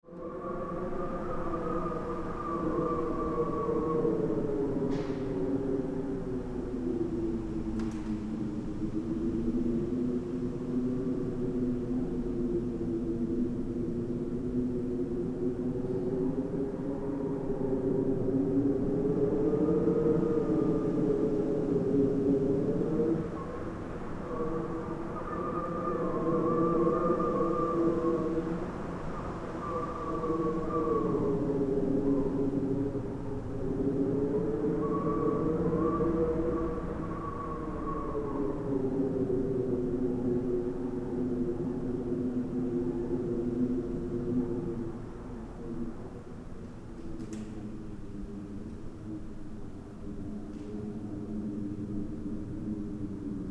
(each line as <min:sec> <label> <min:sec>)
0:00.0 Wind blowing in a resonant space 0:53.5